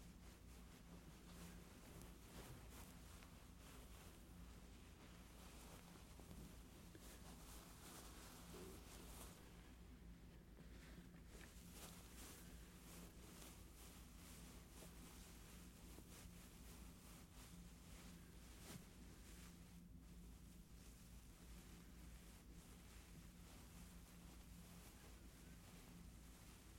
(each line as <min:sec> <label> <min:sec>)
0:00.0 Different cloth passes 0:26.7